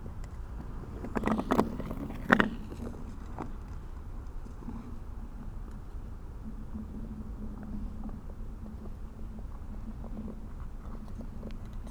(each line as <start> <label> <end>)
0.1 Ice skater on frozen lake 3.8